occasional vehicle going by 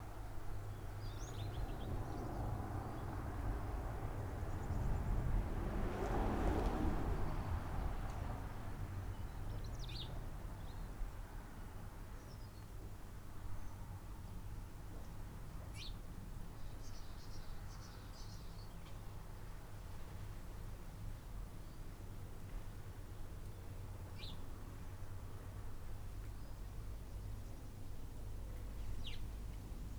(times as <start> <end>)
0.9 10.2